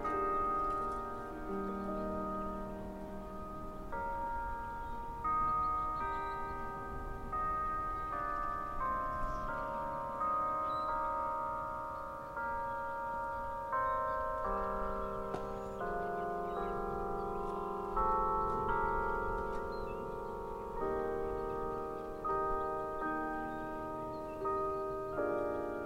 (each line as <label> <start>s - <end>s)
noon chimes 0.0s - 25.8s
west wind 0.0s - 25.8s